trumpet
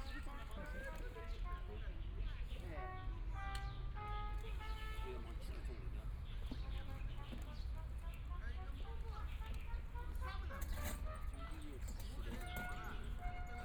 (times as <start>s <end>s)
2.7s 5.5s, 10.8s 13.6s